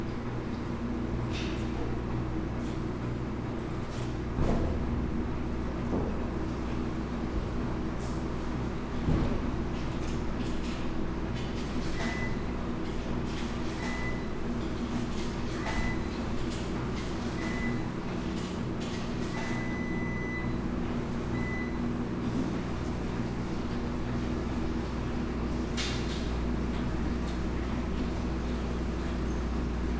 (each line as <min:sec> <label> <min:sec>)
0:00.0 washers and dryers 0:29.9